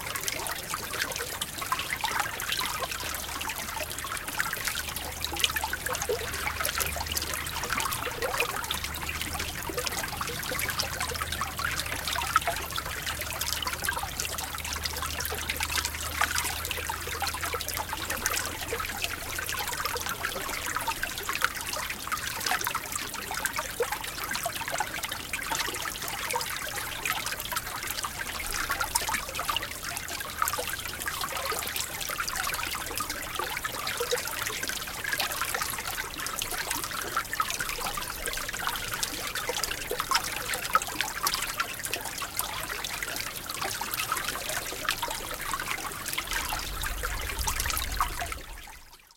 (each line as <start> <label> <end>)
0.0 Small brook gurgling and babbling brightly 49.1